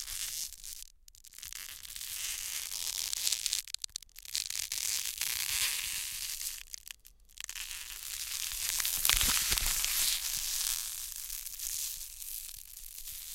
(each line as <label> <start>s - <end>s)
Cellophane manipulated 3.1s - 13.3s